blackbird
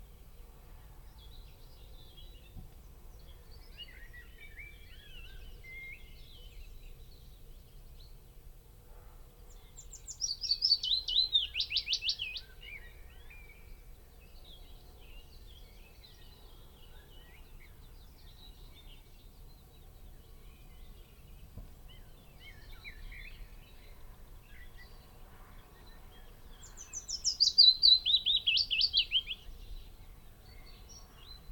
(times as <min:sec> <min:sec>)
0:09.5 0:31.5